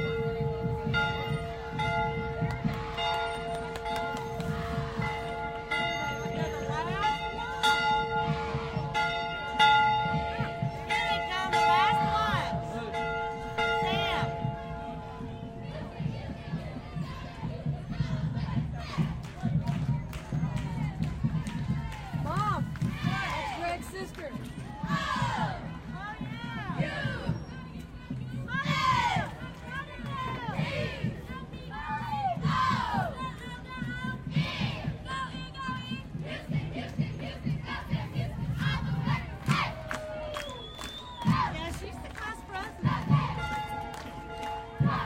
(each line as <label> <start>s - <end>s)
cheerleaders pass 0.0s - 45.0s
marching band playing 0.0s - 45.0s